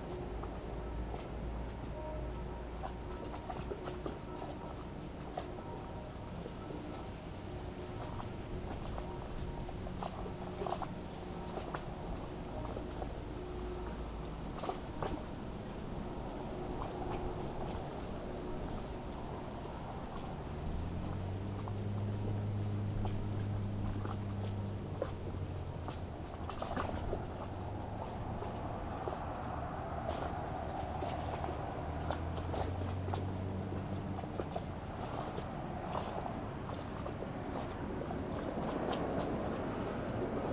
0.0s distant sunday churchbells 40.4s
0.0s waterplane returns 40.5s
0.0s wind 40.5s

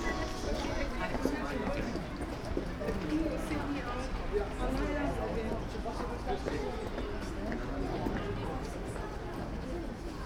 0.0s church bells 1.4s
0.0s kids and parents waiting in front of a house 10.2s

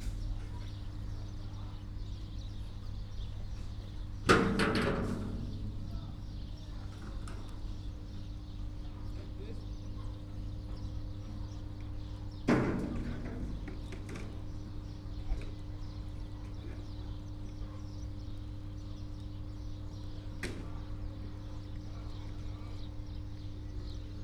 3.5s workers sorting garbage 9.6s
11.8s workers sorting garbage 16.9s

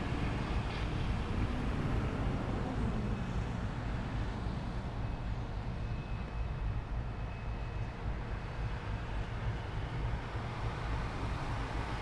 2.8s factory 11.7s

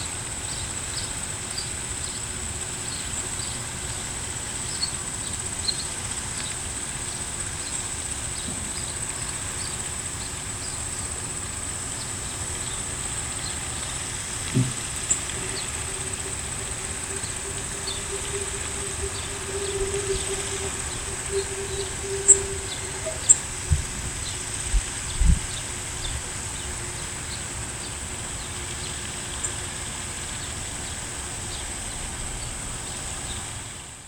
0.1s fountain going off 34.0s
0.4s birds chirping in the trees 33.5s

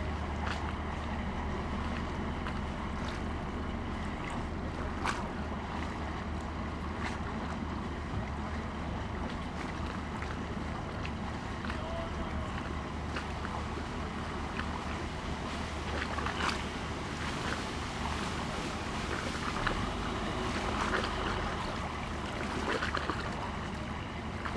0.0s lapping waves 24.5s

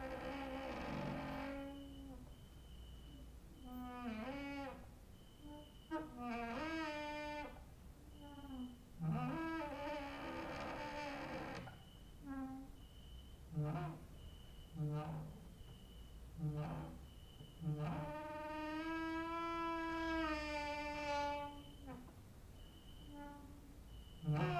0.0s creaking with wooden doors 24.5s
0.0s cricket outside 24.5s

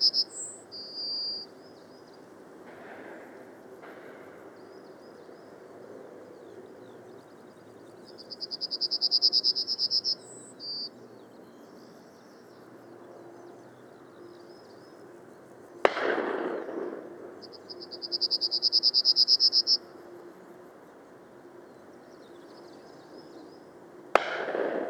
0.0s Skylark 1.6s
15.9s shotguns 17.3s
24.2s shotguns 24.8s

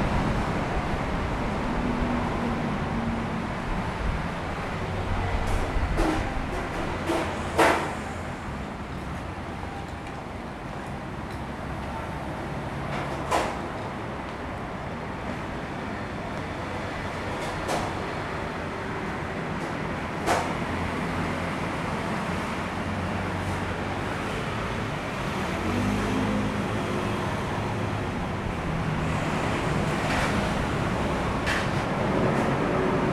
0.0s Traffic Noise 33.1s

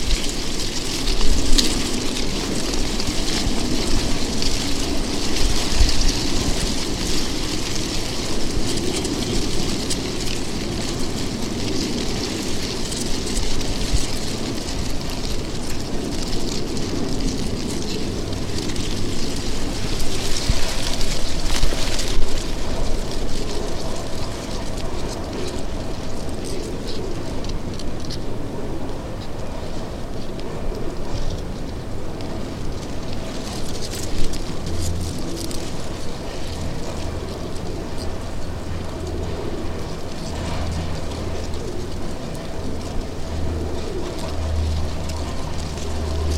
0.0s Wind in dry leaves 46.3s

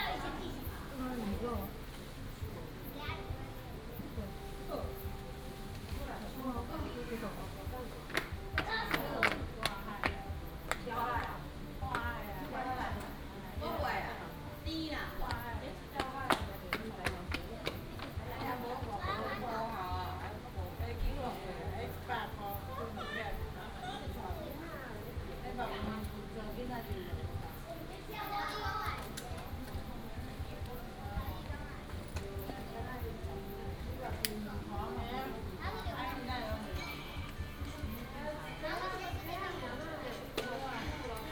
0.0s Tourists and children 41.3s

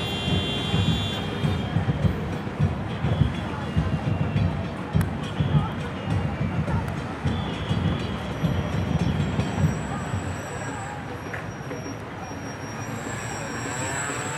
0.0s Demonstrators block traffic 14.3s

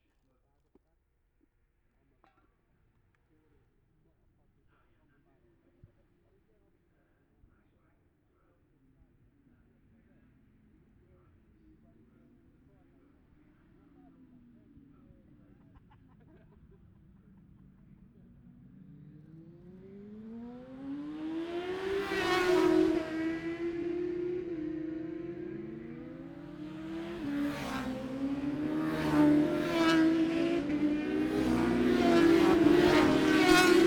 14.4s classic superbikes qualifying 33.8s

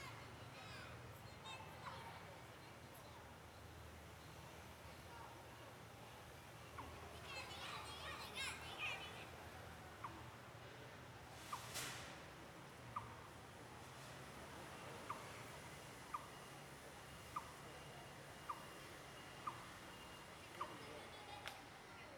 18.4s Birdsong 21.0s

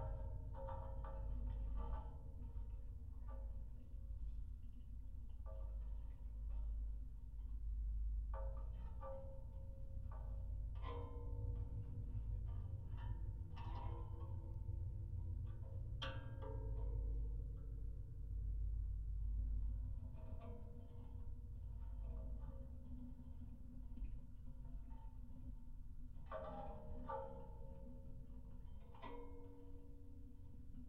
0.0s metallic constructions on abandoned water tower 30.8s

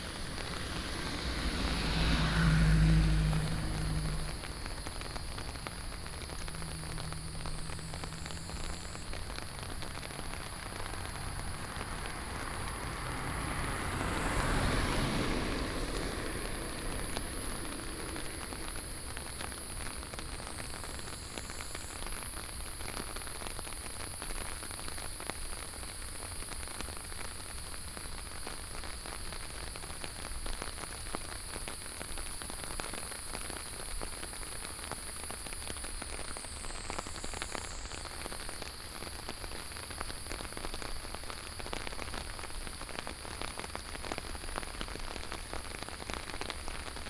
0.0s water streams 21.7s
0.0s Traffic Sound 23.1s
0.0s Walking in the rain 47.0s
0.0s Cicadas cry 23.1s
26.2s Traffic Sound 47.0s
32.1s Cicadas cry 46.7s

